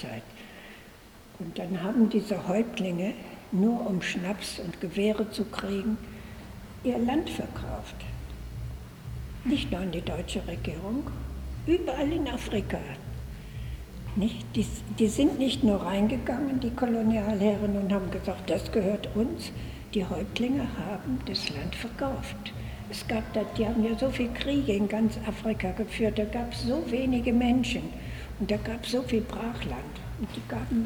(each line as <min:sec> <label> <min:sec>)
0:01.4 special guided tour 0:30.8